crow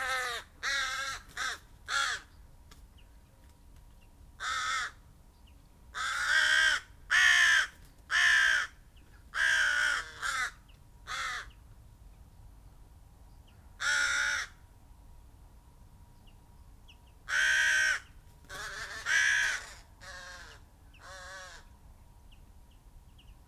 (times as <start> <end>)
0.0 2.3, 4.4 5.0, 6.0 8.8, 9.4 11.6, 13.8 14.6, 17.3 21.7